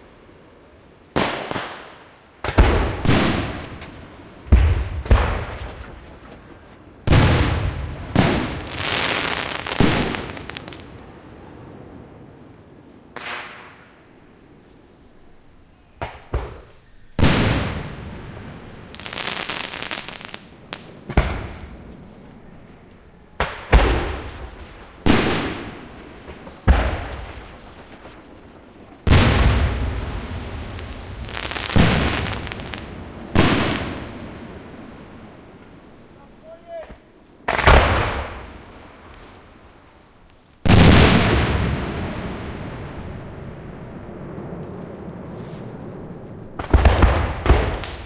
2.4s flat smacky booms 11.1s
2.4s big round booms 12.3s
8.2s fizzles 11.1s
16.0s big round booms 19.3s
16.0s flat smacky booms 22.0s
20.0s big round booms 22.7s
23.4s flat smacky booms 34.7s
23.4s big round booms 35.7s
27.0s fizzles 35.4s
37.4s big round booms 39.2s
40.7s big round booms 48.0s
46.5s flat smacky booms 48.0s

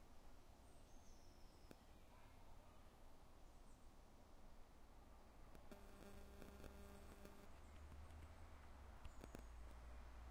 5.7s occasional feedback 7.5s
9.0s birds 9.8s

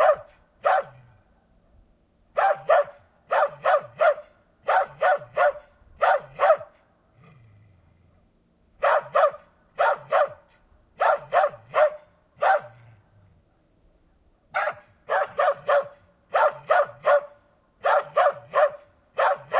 0.0s Cross-bred dog barking 1.1s
2.3s Cross-bred dog barking 6.8s
8.8s Cross-bred dog barking 12.9s
14.5s Cross-bred dog barking 19.5s

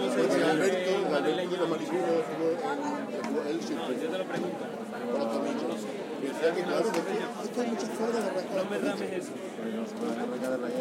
0.0s People drink outdoor and talk 10.8s

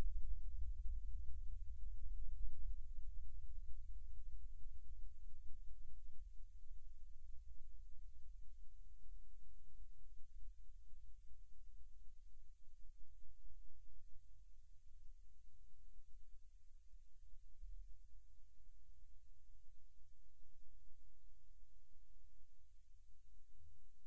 0.0s rumble 8.7s

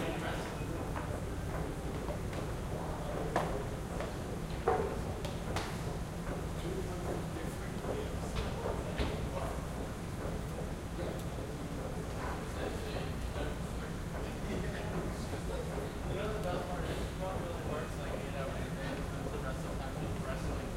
0.0s people 20.7s

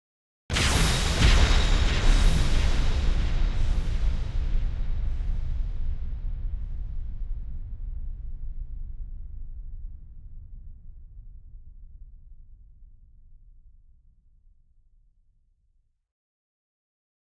0.5s bright explosion 5.0s

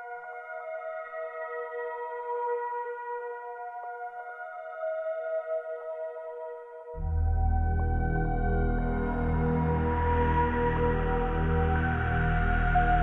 7.0s syntheziser 13.0s

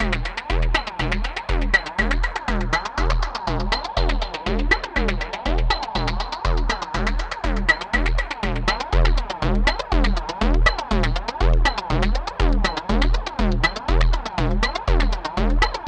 0.0s Percussion 15.8s

